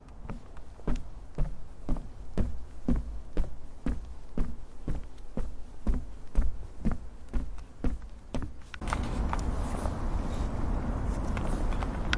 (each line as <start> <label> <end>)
0.0 Steps on wood bridge 9.5